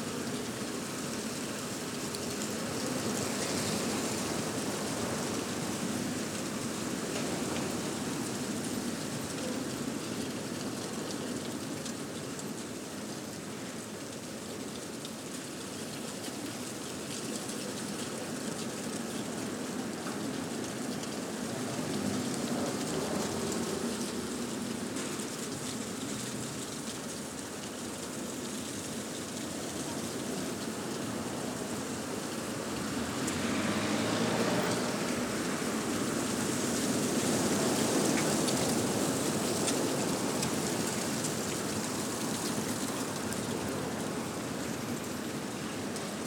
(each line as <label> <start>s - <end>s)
Storm Eunice 0.0s - 46.2s